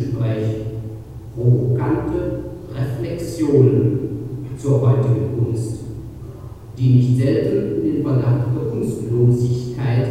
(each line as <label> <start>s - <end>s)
video showing a podium discussion 0.0s - 10.1s